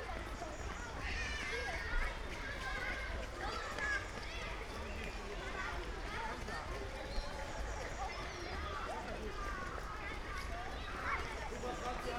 flock of kids passing-by 0.0 - 12.1

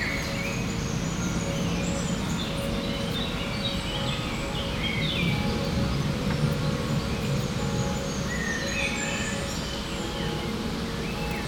Faraway bells 0.0 - 11.4
birds singing 0.0 - 11.4

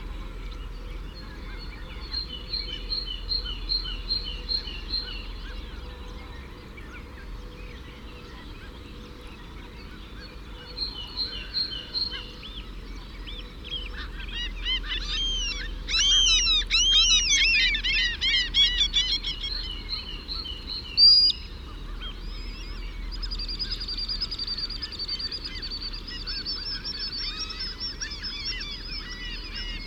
curlew 13.7 - 19.7
curlew 24.6 - 29.8

